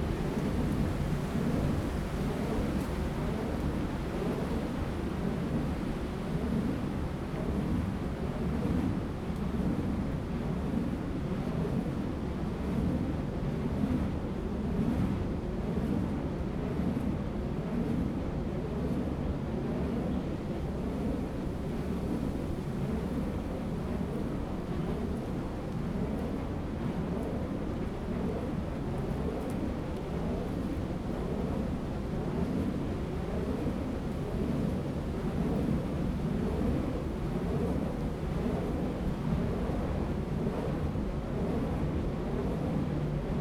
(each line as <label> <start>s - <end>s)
Wind 0.0s - 43.4s
Wind Turbines 11.4s - 43.4s